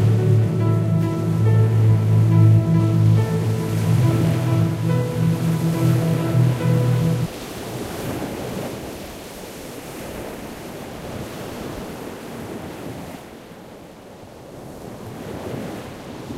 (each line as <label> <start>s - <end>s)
music 0.0s - 7.3s